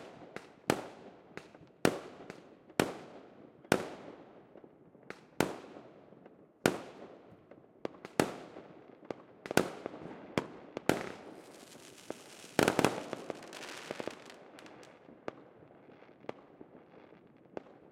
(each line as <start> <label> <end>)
10.8 Fireworks Crackle 17.9